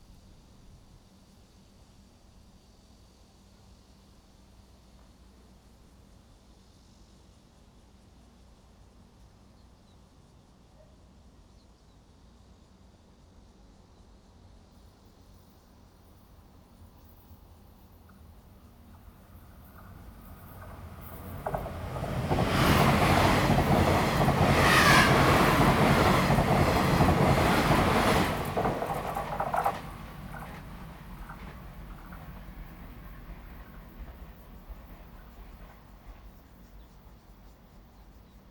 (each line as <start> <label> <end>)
16.0 The train runs through 38.5